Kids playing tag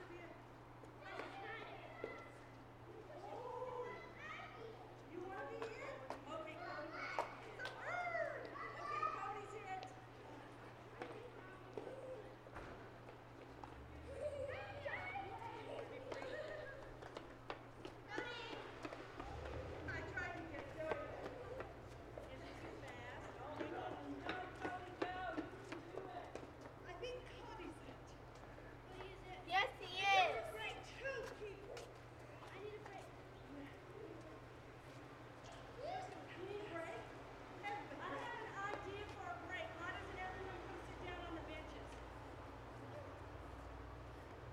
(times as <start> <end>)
13.1 27.5